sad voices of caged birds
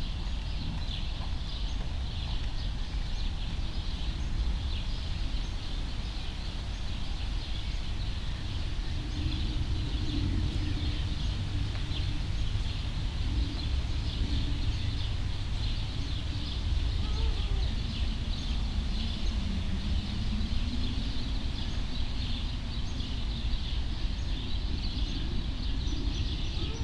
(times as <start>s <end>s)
6.6s 26.8s